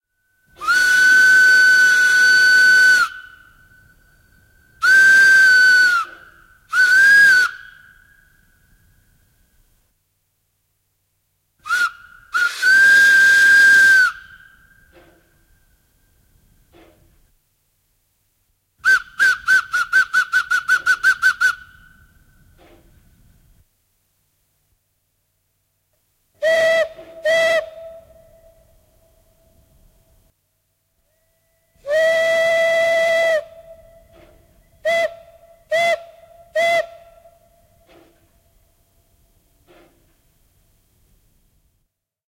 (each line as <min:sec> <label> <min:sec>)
0:00.4 steam locomotive 0:08.0
0:00.4 various whistles 0:08.6
0:11.6 steam locomotive 0:17.3
0:11.7 various whistles 0:15.3
0:18.8 various whistles 0:22.6
0:18.8 steam locomotive 0:23.5
0:26.4 steam locomotive 0:30.3
0:31.1 various whistles 0:38.0
0:31.1 steam locomotive 0:41.3